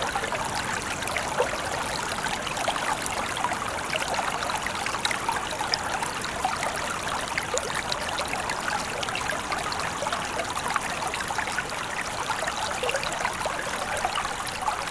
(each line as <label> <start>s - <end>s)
small stream 0.0s - 14.9s